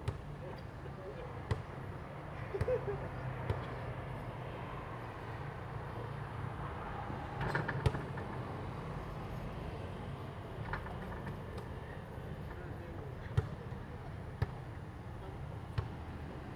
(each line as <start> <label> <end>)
0.0 Traffic sound 16.5
1.5 basketball 1.8
13.4 basketball 13.7
14.4 basketball 14.7
15.6 basketball 16.1